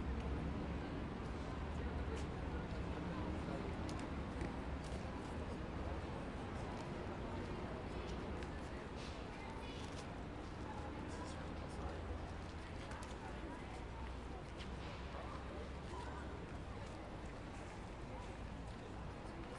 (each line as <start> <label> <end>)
0.0 crowd 19.5
0.0 traffic 19.5
0.0 wind 19.5